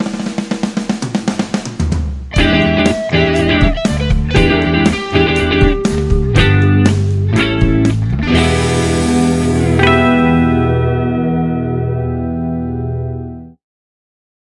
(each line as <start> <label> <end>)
0.0 Rock music 13.6